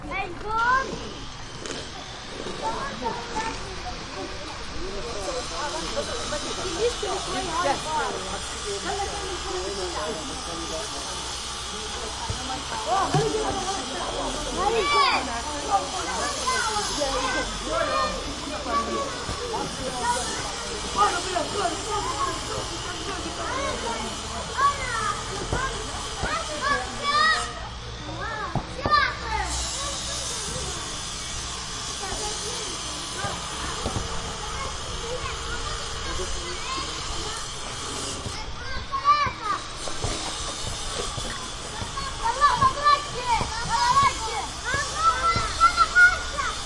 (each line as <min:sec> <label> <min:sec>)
0:00.0 distant construction table saw 0:46.6
0:12.2 kids kicking soccer ball in rubble 0:13.7
0:18.6 kids kicking soccer ball in rubble 0:22.8
0:25.4 kids kicking soccer ball in rubble 0:26.9
0:28.4 kids kicking soccer ball in rubble 0:29.2
0:38.0 kids kicking soccer ball in rubble 0:46.5